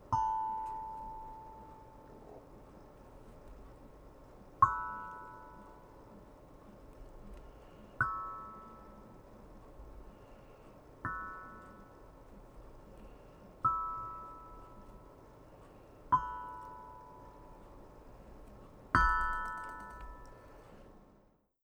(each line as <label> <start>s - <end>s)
Soft steel tongue drum notes 0.0s - 2.5s
Soft steel tongue drum notes 4.6s - 6.4s
Soft steel tongue drum notes 8.0s - 10.0s
Soft steel tongue drum notes 11.0s - 18.1s
Soft steel tongue drum notes 18.9s - 20.8s